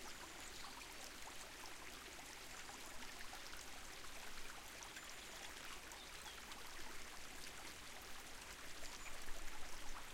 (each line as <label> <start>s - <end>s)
small meandering stream 0.0s - 10.1s